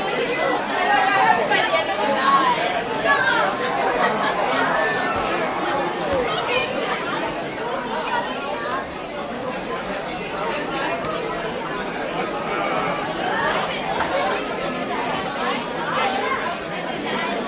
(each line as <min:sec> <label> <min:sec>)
0:00.0 crowd 0:17.4